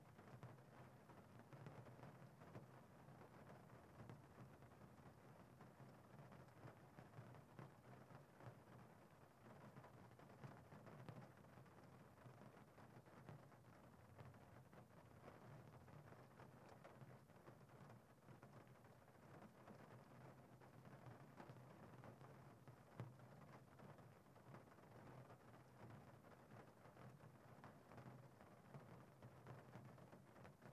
0.0s Gentle rain pouring on the hood of a car 30.7s

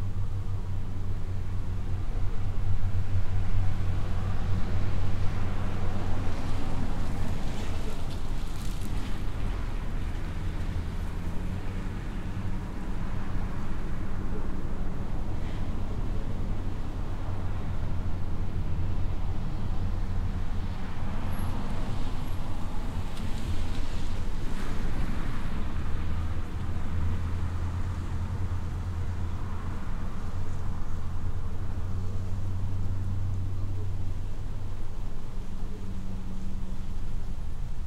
0.0s Light wind 37.8s
0.0s distant helicopter in the sky 37.8s
0.0s minor vehicle pass by's 37.8s

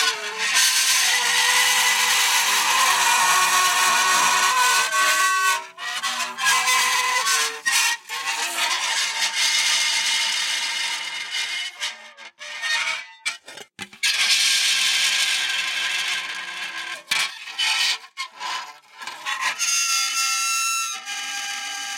0.2s Dry Ice coming in contact with various metals 9.0s

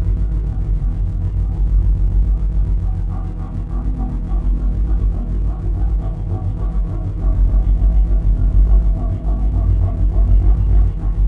0.0s Granular drone 11.2s

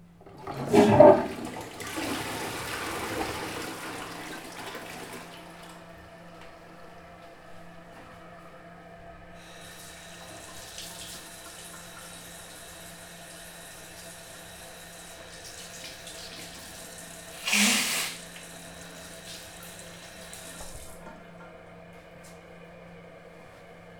0.0s Toilet flush 6.9s
9.3s Toilet flush 21.5s

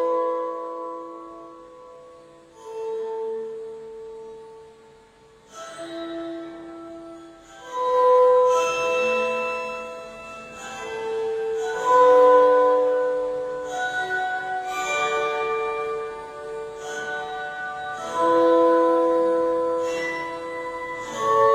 5.4s Music Box 21.5s

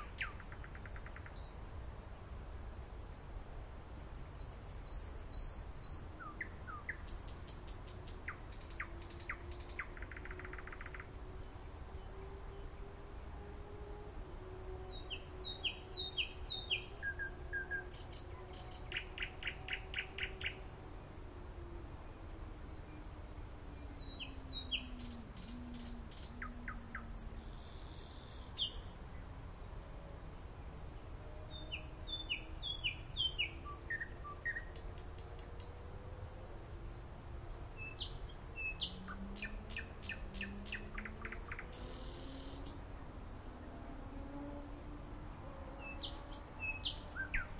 0.0s distant traffic 47.5s

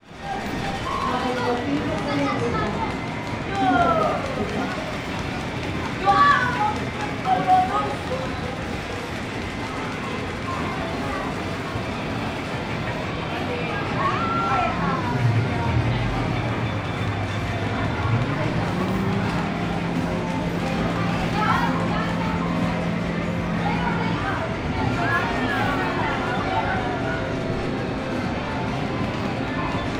0.0s kids and teen-agers playing 29.9s
0.0s noisy arcade games 29.9s
14.0s music 29.9s

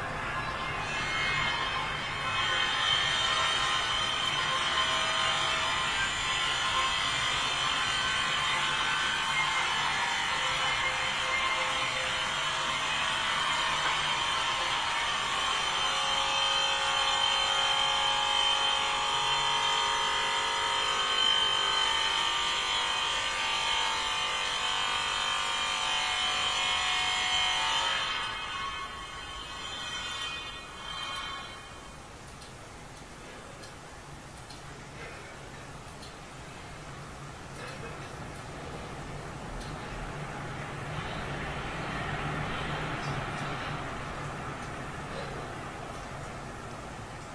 0.6s workers are starting some grinder 32.6s

